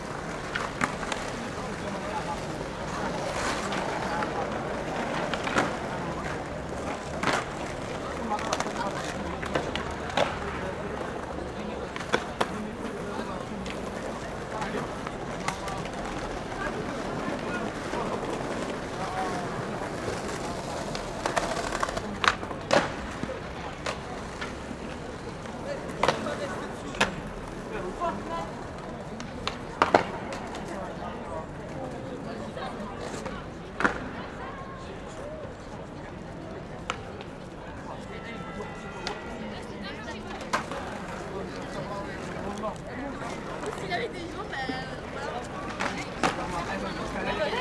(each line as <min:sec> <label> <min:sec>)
0:00.0 Skateboarding 0:38.2
0:39.0 Skateboarding 0:47.6